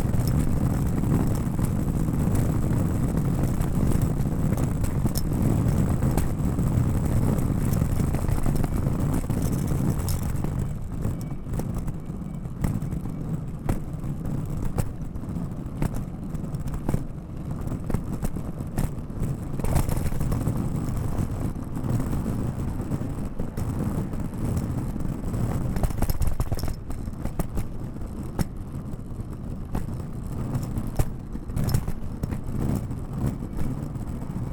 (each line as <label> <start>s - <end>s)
Luggage Bag Drag 0.0s - 10.8s